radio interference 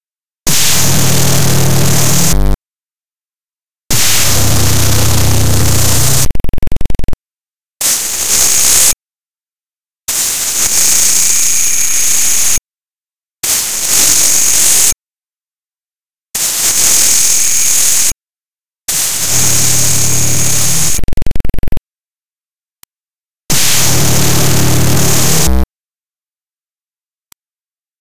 0.5s 2.6s, 3.9s 7.2s, 19.0s 21.8s, 23.5s 25.6s

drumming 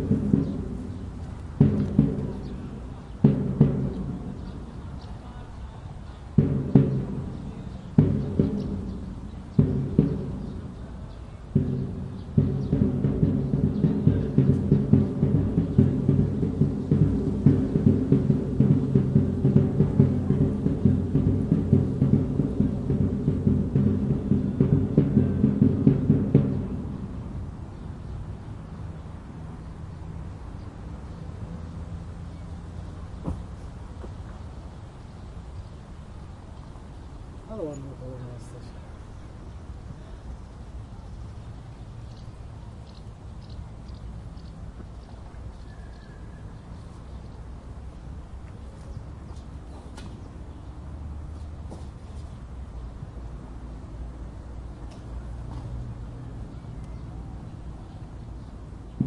0.0s 4.8s, 6.3s 27.6s

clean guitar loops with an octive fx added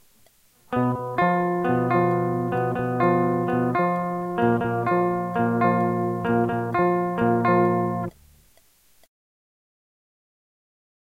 0.7s 8.1s

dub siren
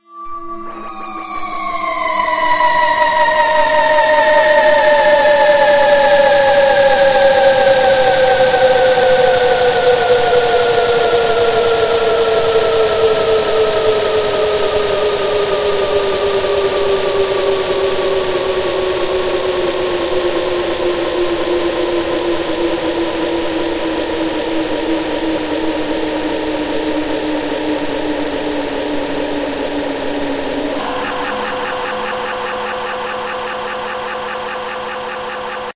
0.0s 8.2s, 30.6s 35.7s

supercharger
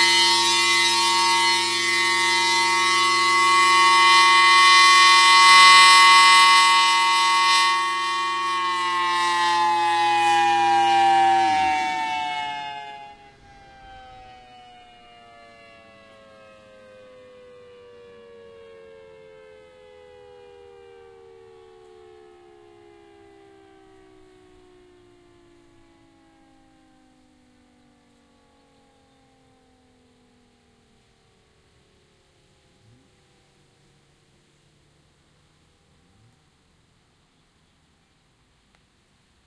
0.0s 14.3s

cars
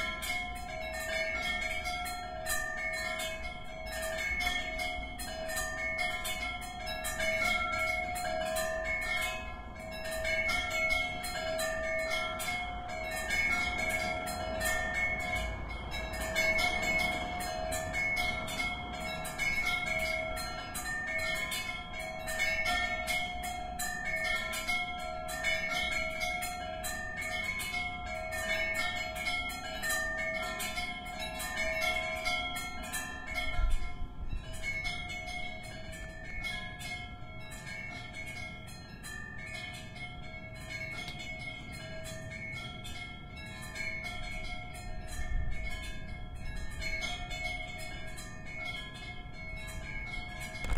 12.4s 22.5s

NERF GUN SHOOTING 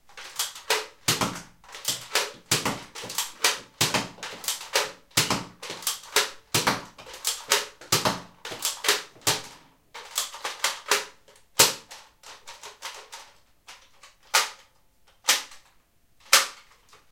0.2s 11.9s

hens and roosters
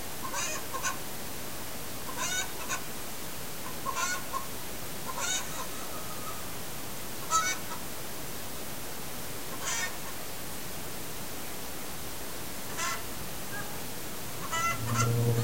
5.1s 6.5s

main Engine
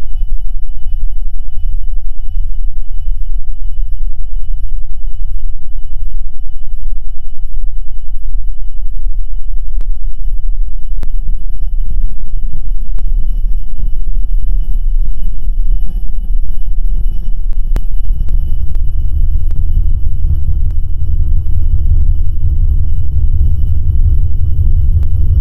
17.6s 25.4s

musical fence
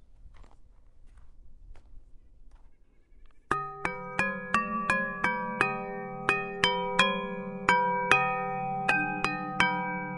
3.5s 10.1s

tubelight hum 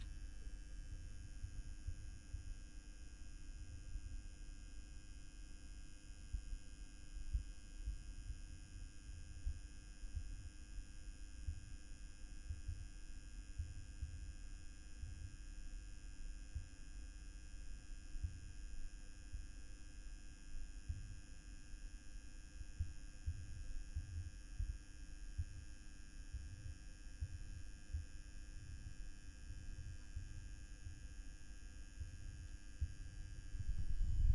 32.8s 34.3s

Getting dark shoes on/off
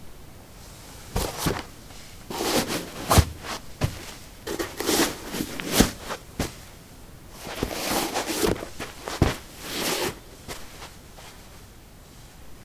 1.1s 6.7s, 7.3s 11.5s

